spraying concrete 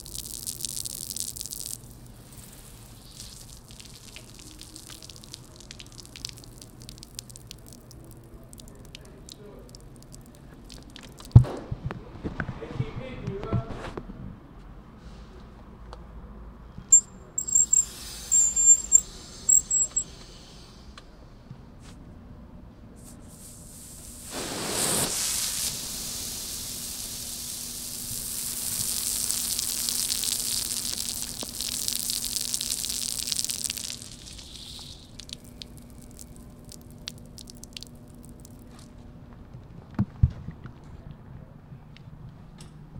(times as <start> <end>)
0.0 11.2, 17.4 20.0, 23.2 36.2